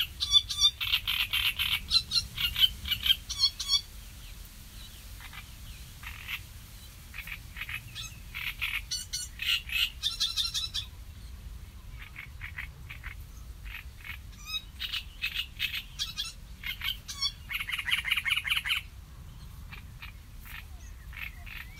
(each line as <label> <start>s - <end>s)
sedge warbler 0.0s - 21.7s